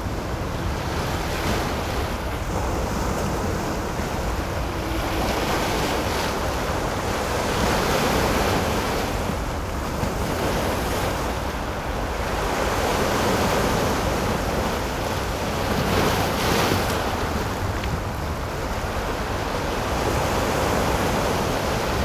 the waves 0:00.0 - 0:22.0

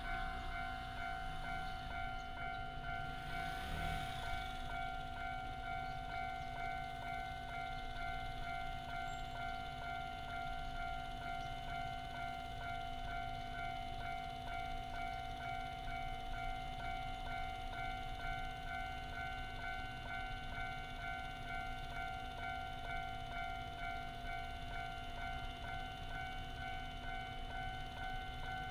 Traffic sound 0:00.0 - 0:05.2
The train passes by 0:00.0 - 0:28.7

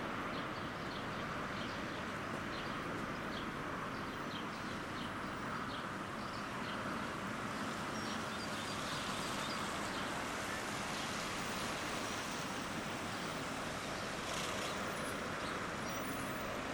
Highway 0:00.0 - 0:16.7

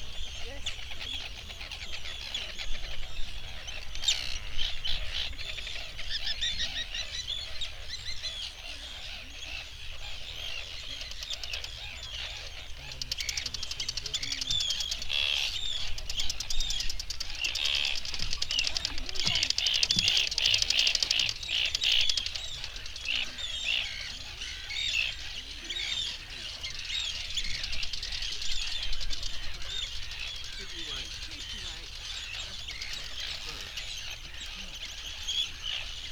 arctic tern colony 0:00.0 - 0:36.1
background noise from people 0:00.0 - 0:36.1
boats 0:00.0 - 0:36.1

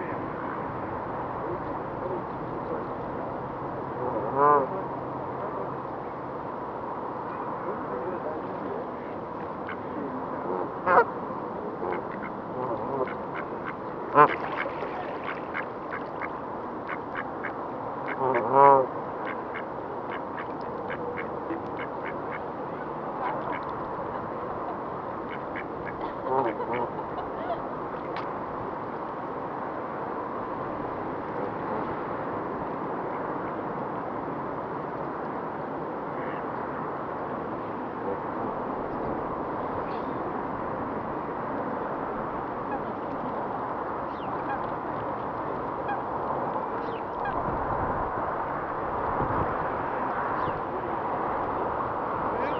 ducks swimming 0:09.0 - 0:11.1
ducks swimming 0:11.7 - 0:28.2
geese (100s of them) 0:11.8 - 0:16.3
swans 0:11.8 - 0:28.2
flies/water insects 0:11.9 - 0:18.2
swans 0:42.6 - 0:43.4
swans 0:44.0 - 0:46.2
ducks swimming 0:44.0 - 0:47.4
geese (100s of them) 0:44.1 - 0:44.7
swans 0:46.8 - 0:47.4
swans 0:52.3 - 0:52.5
geese (100s of them) 0:52.4 - 0:52.5

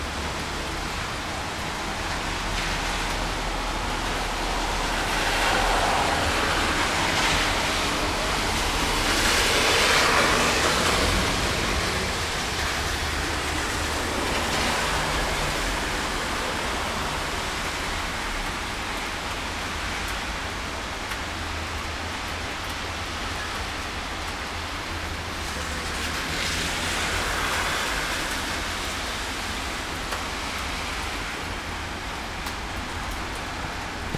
cars passing by 0:00.0 - 0:34.1
rain 0:00.0 - 0:34.1

